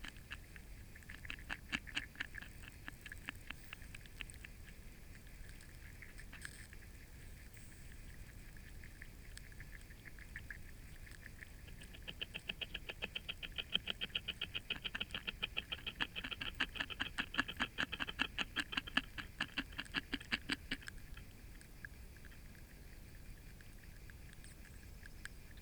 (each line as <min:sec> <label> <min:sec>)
0:00.0 frogs vocalising 0:04.8
0:00.0 cicadas 0:25.6
0:00.0 tadpoles nibbling from a spawn covered branch 0:22.5
0:08.6 frogs vocalising 0:24.0